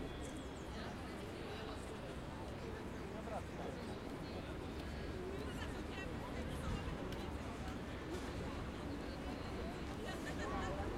0.0s crowd 10.9s
0.0s wind 10.9s

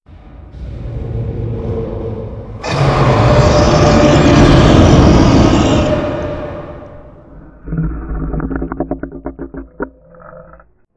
2.6s Sea Creature Roar 10.8s

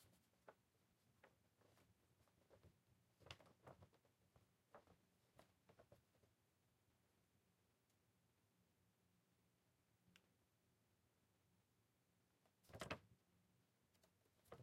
0.0s Paper rusteling 6.0s

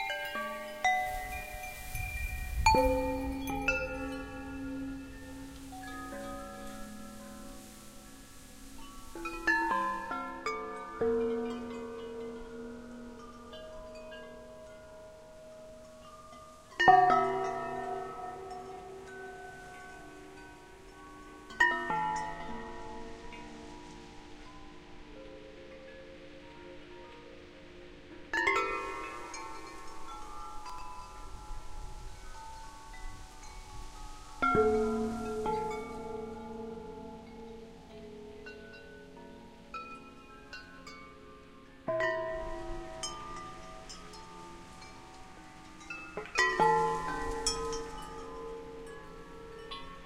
0.0s glass marimba 50.0s
0.0s metal windchimes 50.0s

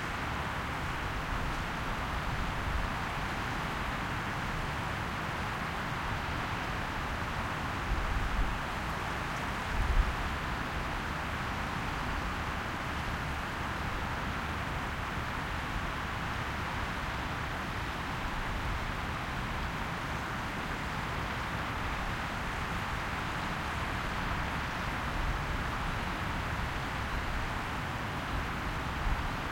0.0s wind in the forest 29.5s

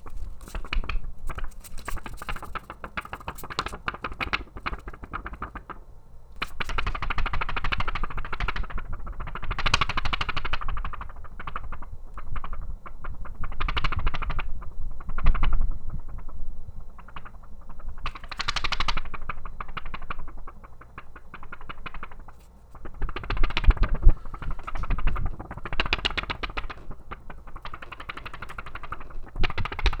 6.4s Microphone Wobbling 30.0s

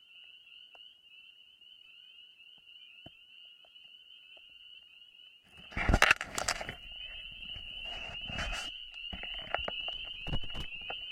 0.0s Frogs calling 11.1s

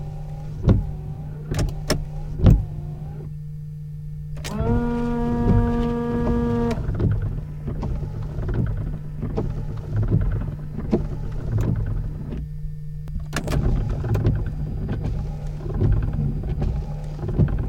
0.0s wiper 3.3s
4.4s wiper 12.5s
13.3s wiper 17.6s

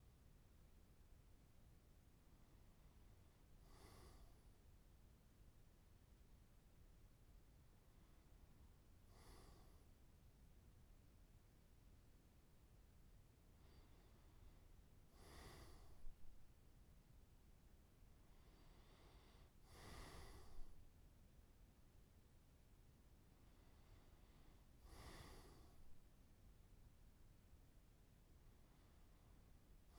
3.6s man breathing while deep sleeping 4.5s
9.1s man breathing while deep sleeping 9.9s
13.6s man breathing while deep sleeping 16.4s
18.3s man breathing while deep sleeping 20.9s
23.5s man breathing while deep sleeping 26.0s

